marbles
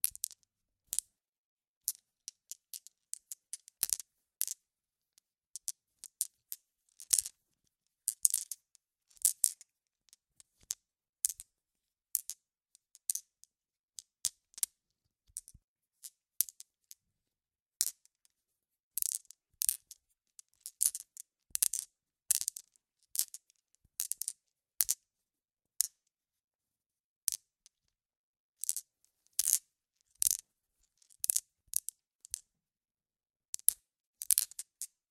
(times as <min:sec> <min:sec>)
0:00.0 0:01.1, 0:01.8 0:04.6, 0:05.6 0:07.4, 0:08.1 0:11.5, 0:12.1 0:13.4, 0:14.0 0:16.7, 0:17.8 0:18.2, 0:19.0 0:25.0, 0:27.3 0:27.8, 0:28.6 0:32.5, 0:33.5 0:35.0